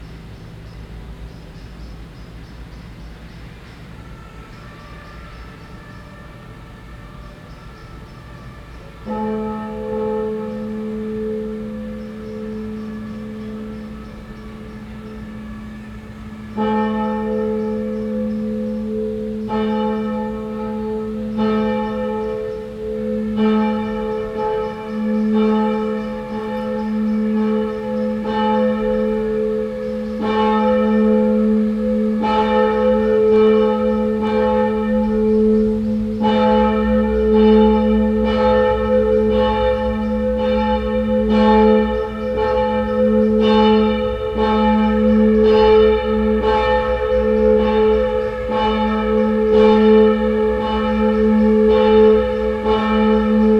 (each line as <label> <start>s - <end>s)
bells 0.0s - 53.5s